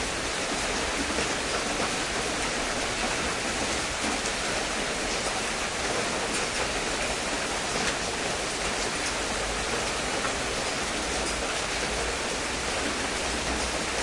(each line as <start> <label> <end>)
0.0 heavy rain 14.0